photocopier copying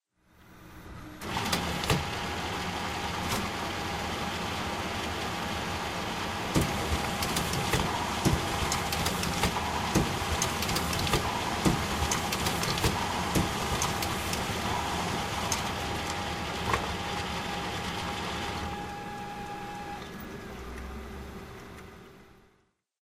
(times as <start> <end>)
1.2 4.8, 5.7 20.5